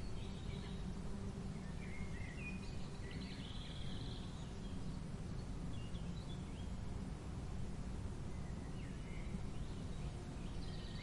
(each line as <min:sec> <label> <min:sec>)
0:00.0 Birds 0:11.0